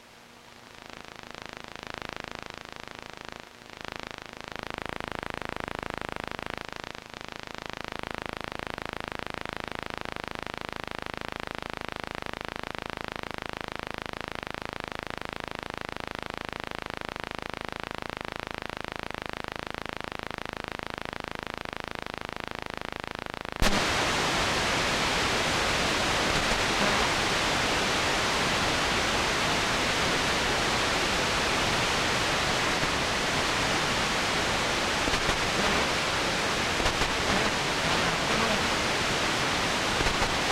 white noise 0:00.0 - 0:40.5
distorted voice says black 0:26.4 - 0:27.4
distorted voice says black 0:35.1 - 0:40.5

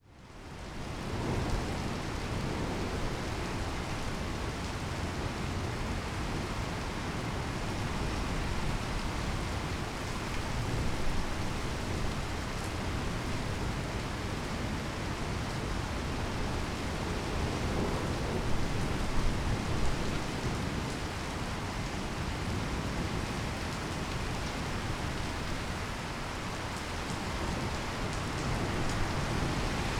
rain (quite heavy at times) falling on the leaves of the trees 0:00.0 - 0:29.9
vehicles passing by in the wet street 0:00.3 - 0:29.9
thunder rolling almost continuously 0:27.0 - 0:29.9

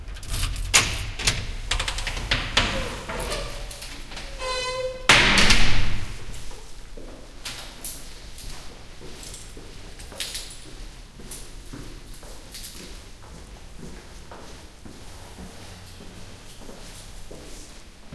keys turn 0:00.0 - 0:04.5
squeaky door opens 0:00.0 - 0:06.3

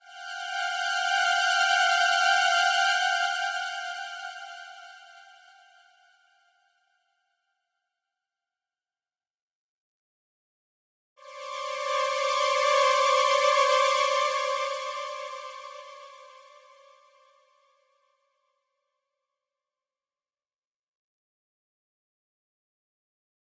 strings 0:11.2 - 0:16.8

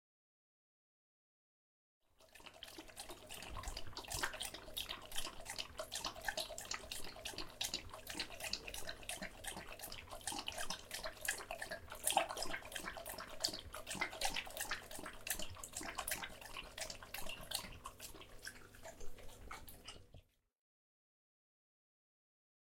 dog drinking tap water out of a bowl 0:02.2 - 0:20.2

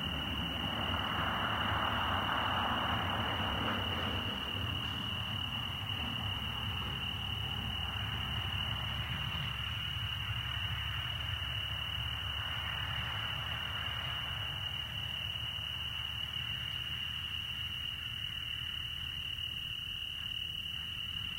car passes along a dirt trail 0:00.0 - 0:19.0
crickets 0:00.0 - 0:21.3

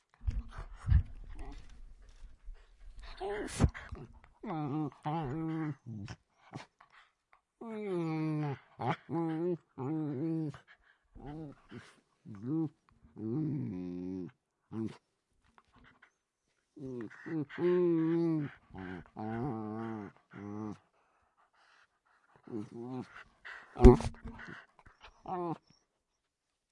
Miniature Dachshunds Playing 0:00.0 - 0:07.4
Miniature Dachshunds Playing 0:21.5 - 0:25.8

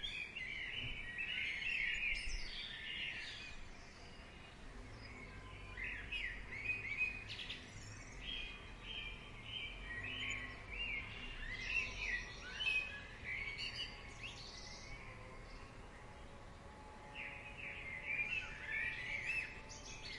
birdsong 0:00.0 - 0:20.1
slight wind 0:00.0 - 0:20.1

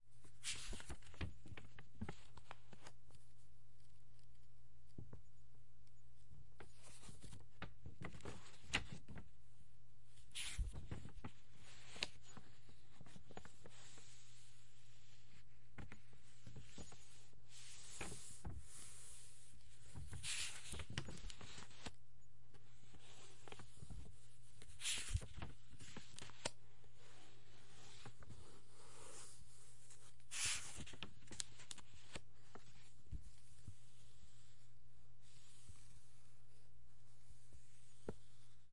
Book Turning Pages 0:00.3 - 0:03.2
Book Turning Pages 0:10.3 - 0:14.2
Book Turning Pages 0:15.8 - 0:19.2
Book Turning Pages 0:19.8 - 0:22.0
Book Turning Pages 0:22.8 - 0:33.5

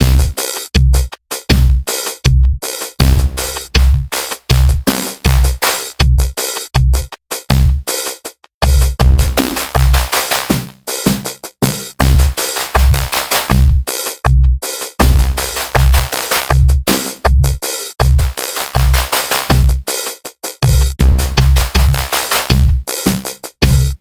drumloop 0:00.0 - 0:24.0

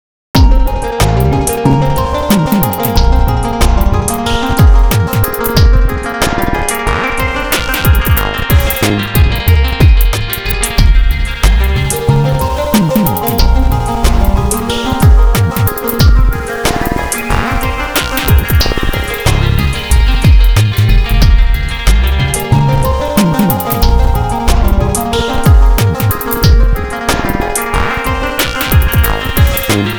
bass 0:00.4 - 0:05.9
percussion 0:00.4 - 0:29.9
melody 0:00.4 - 0:29.9
bass 0:08.2 - 0:16.3
bass 0:18.3 - 0:28.0
bass 0:29.0 - 0:29.9

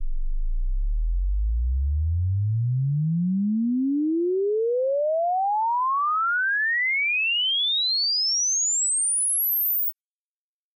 Sweep from the lower end of the frequency band to the higher 0:03.8 - 0:09.9

